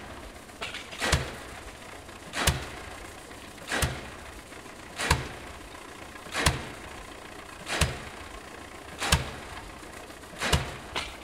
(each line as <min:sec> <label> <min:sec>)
0:00.0 tractor 0:11.2
0:10.3 construction nail pile 0:11.2